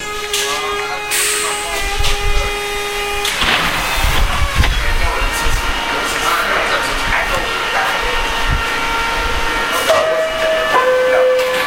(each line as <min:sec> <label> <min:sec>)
0:00.0 high pitched hum runs under everything 0:10.4
0:00.0 Doors to the subway open 0:11.6